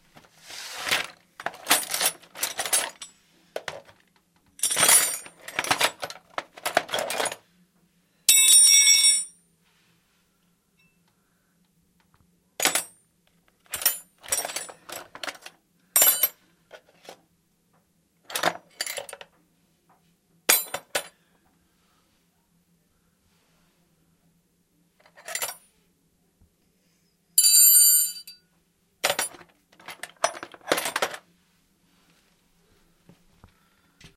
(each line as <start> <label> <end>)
0.0 toolbox 7.4
12.6 toolbox 13.0
13.6 toolbox 17.2
18.3 toolbox 19.3
20.5 toolbox 21.1
25.0 toolbox 25.6
29.0 toolbox 31.3